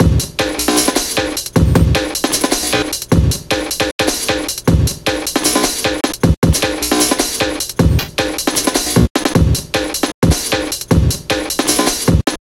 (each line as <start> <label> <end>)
0.0 bass 12.3